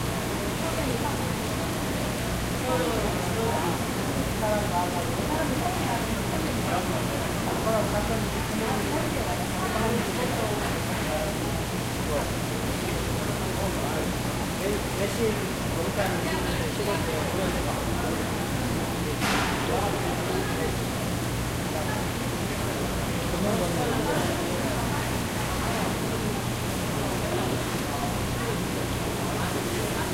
water 0:00.0 - 0:30.1
People talking in Korean 0:00.4 - 0:30.1

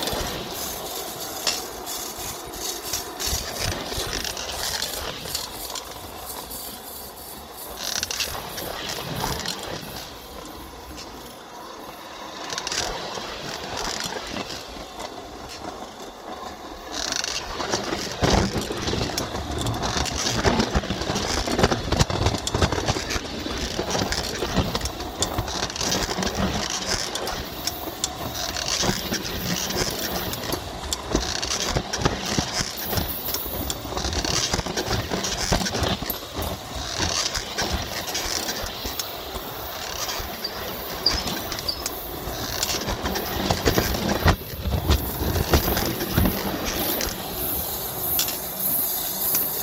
Train 0:00.0 - 0:49.6

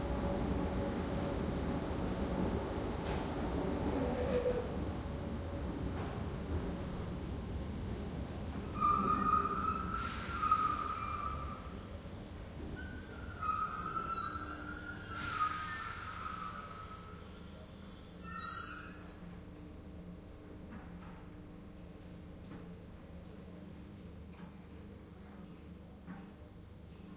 Slow train approaches an underground station 0:00.0 - 0:27.1

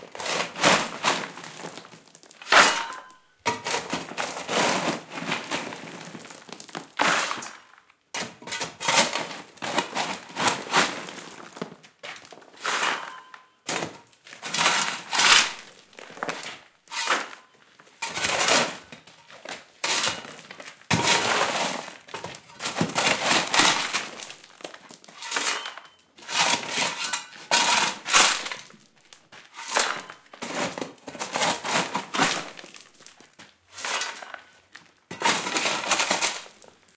working with shovel 0:00.1 - 0:07.6
working with shovel 0:08.2 - 0:36.9

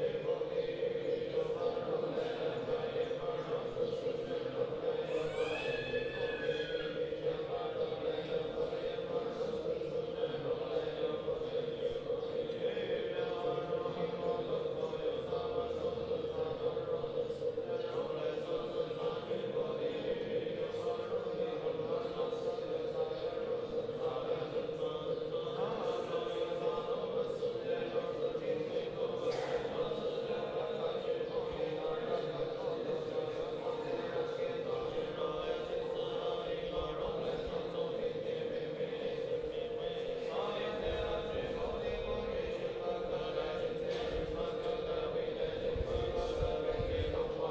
monks chanting01寺庙和尚诵经 0:00.0 - 0:47.5

